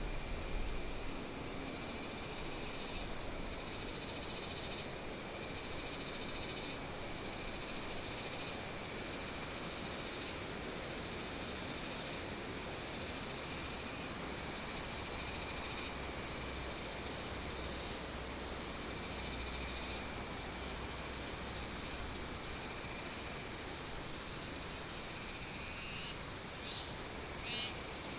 Cicadas 0:00.0 - 0:28.1
Insects 0:00.0 - 0:28.1

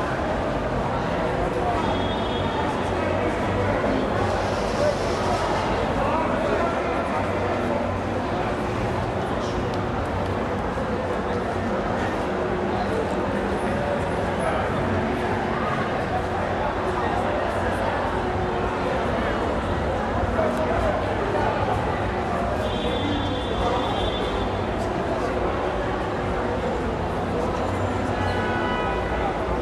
waiting and lingering people 0:00.0 - 0:29.6

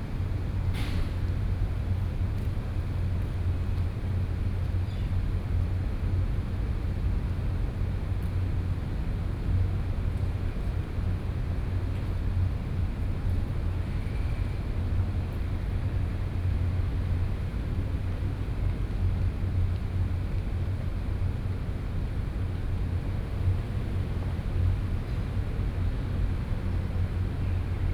Air-conditioning noise 0:00.0 - 0:27.9

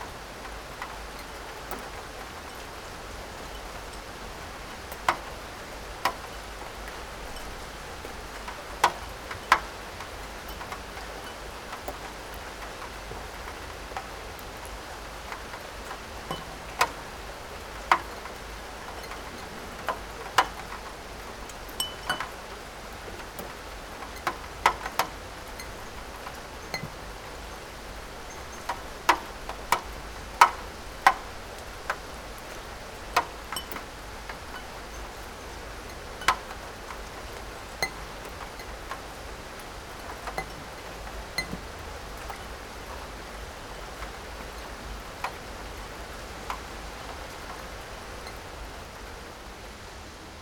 raindrops onto porcelain cups, plates, shelf 0:00.0 - 0:49.9

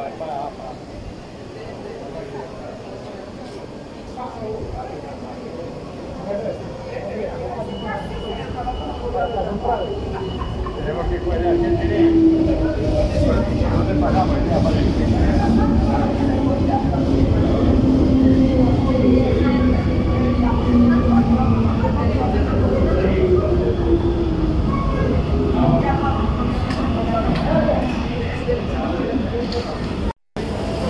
Llegada del metro 0:00.0 - 0:30.8

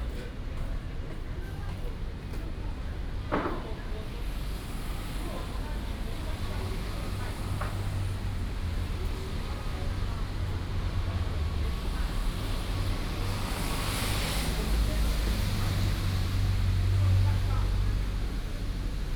Traffic sound 0:04.3 - 0:19.1

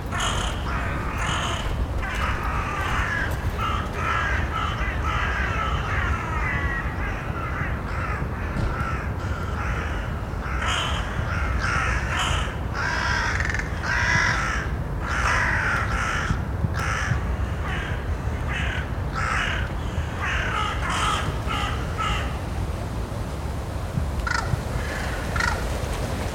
crows lift off from the trees 0:00.1 - 0:05.0

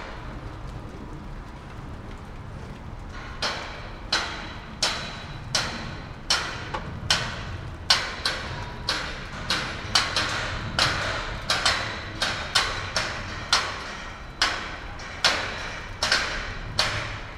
Construction Noise 0:00.0 - 0:17.3

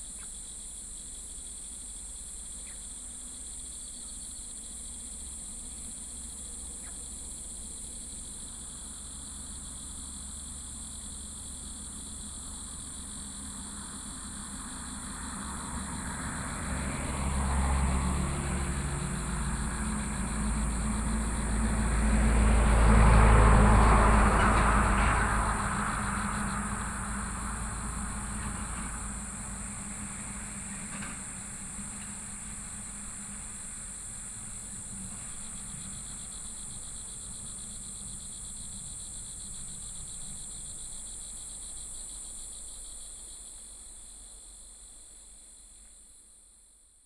Cicadas 0:00.0 - 0:47.0
Traffic Sound 0:10.9 - 0:40.7

